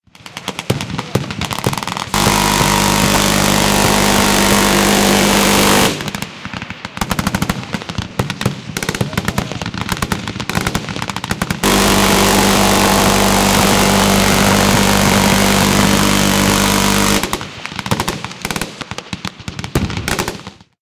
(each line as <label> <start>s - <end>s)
Other automatic fire 0.1s - 19.0s
Minigun burst fire 2.1s - 6.4s
Minigun burst fire 8.7s - 18.2s